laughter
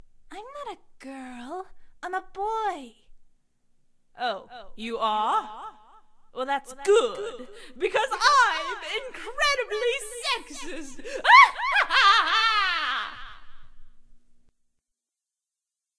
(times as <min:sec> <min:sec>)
0:10.9 0:13.5